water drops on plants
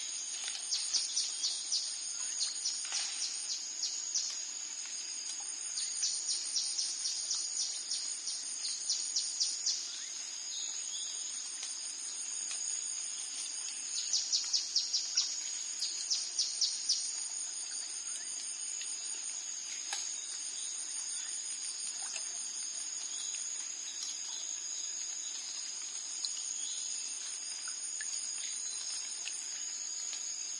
19.7 24.4

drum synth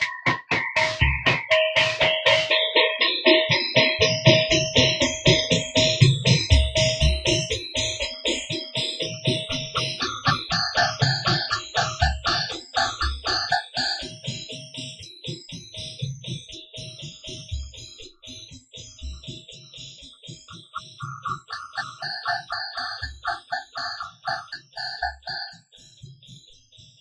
0.0 2.6, 9.0 14.2, 20.4 25.5

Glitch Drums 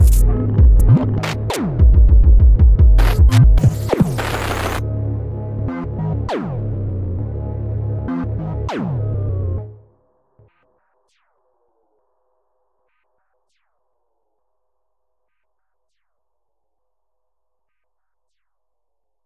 0.0 4.8

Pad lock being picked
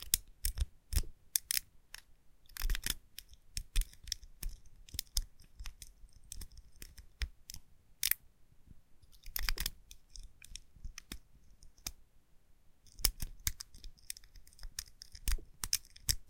0.0 8.2, 12.9 16.2

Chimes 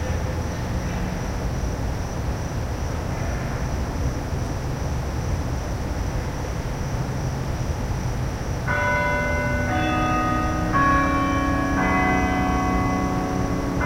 8.7 13.8

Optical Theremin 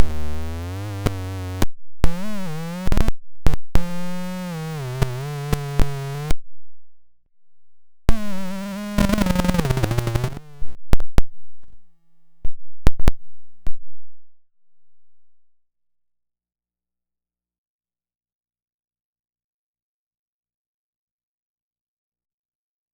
8.1 10.8

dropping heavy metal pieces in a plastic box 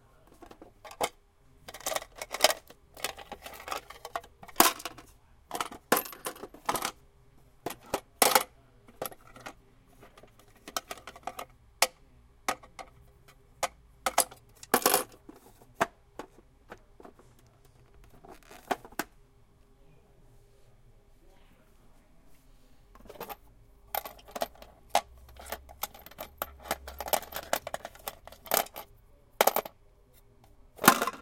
14.1 15.5, 24.0 28.8, 29.4 29.7, 30.8 31.2

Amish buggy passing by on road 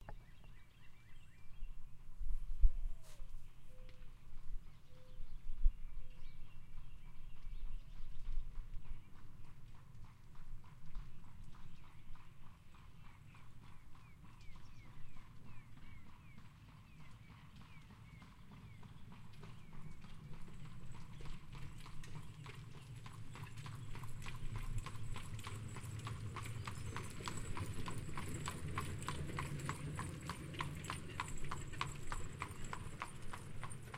9.0 33.9

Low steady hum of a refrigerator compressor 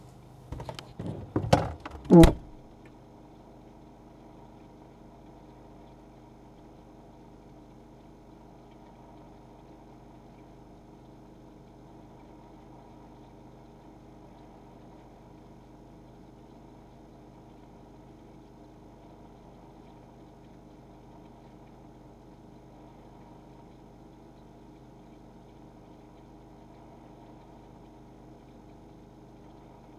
0.0 2.6

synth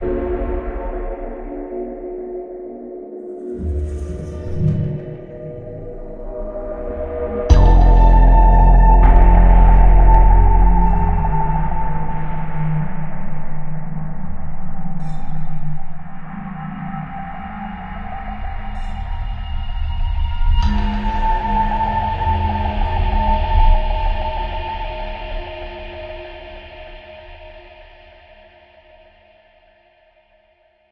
3.4 13.2

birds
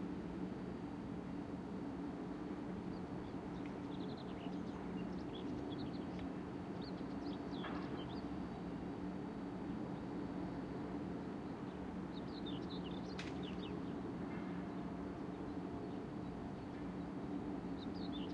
11.6 18.3

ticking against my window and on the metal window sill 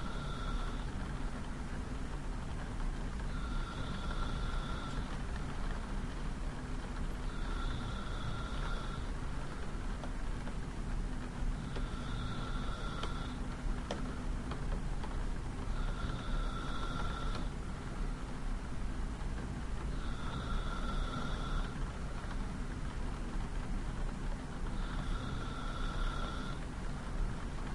12.5 16.4

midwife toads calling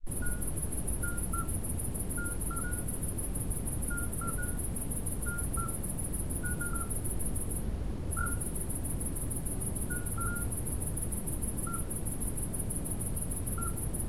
0.1 3.0, 3.8 7.1, 8.1 8.6, 9.8 10.6, 11.6 11.9, 13.5 13.9

